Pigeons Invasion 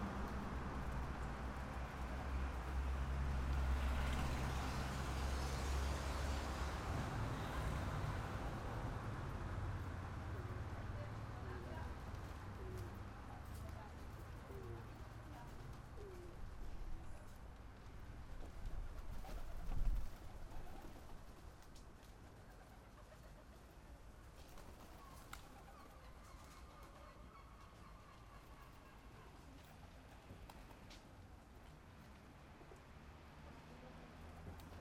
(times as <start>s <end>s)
9.8s 30.9s